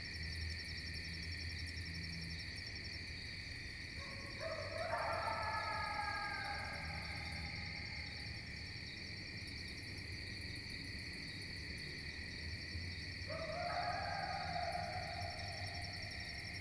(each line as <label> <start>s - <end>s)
distant coyote 3.9s - 8.4s
distant coyote 13.2s - 16.6s